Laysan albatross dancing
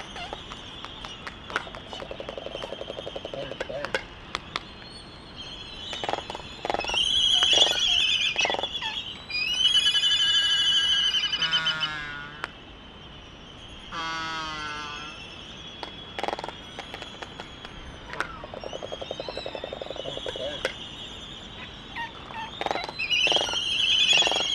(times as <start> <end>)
0.0 5.0, 15.8 20.8